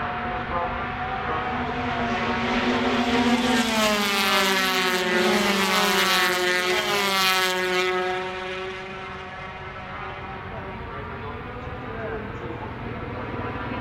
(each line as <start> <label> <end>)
0.3 commentary 2.7
10.0 commentary 13.8